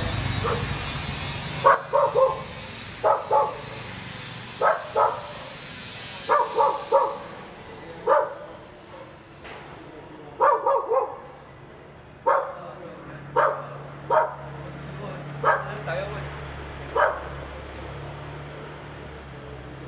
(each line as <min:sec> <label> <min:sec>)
0:00.0 Dogs barking 0:00.8
0:00.0 Carpentry Workers 0:19.8
0:00.0 Construction Sound 0:19.8
0:01.5 Dogs barking 0:03.9
0:04.6 Dogs barking 0:05.6
0:06.2 Dogs barking 0:09.2
0:10.4 Dogs barking 0:11.4
0:12.2 Dogs barking 0:12.6
0:13.3 Dogs barking 0:14.6
0:15.4 Dogs barking 0:15.9
0:16.9 Dogs barking 0:17.8